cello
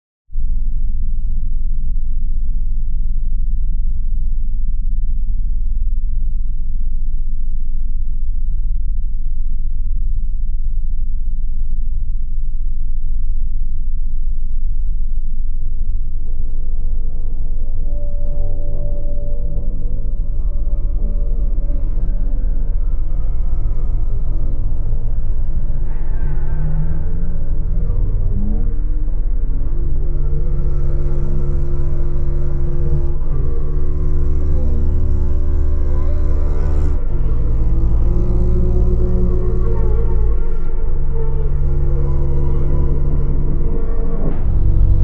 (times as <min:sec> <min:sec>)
0:17.2 0:45.0